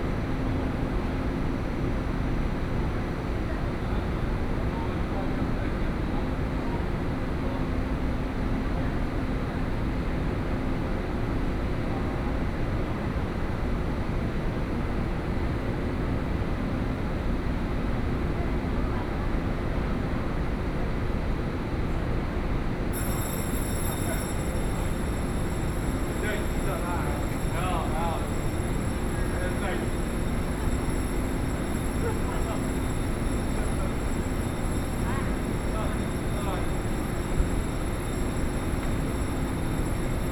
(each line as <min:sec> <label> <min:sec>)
0:22.8 Train Arrival and Departure 0:40.3
0:23.0 Station broadcast messages 0:40.3